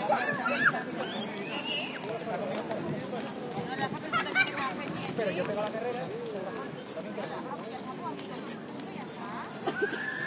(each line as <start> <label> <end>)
0.0 comments from parents 10.2
0.0 voices of kids playing 10.2